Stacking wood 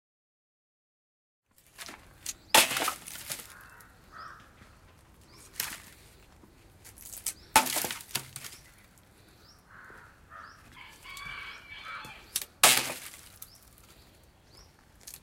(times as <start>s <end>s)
1.6s 3.6s, 5.4s 6.0s, 6.9s 8.7s, 12.4s 13.5s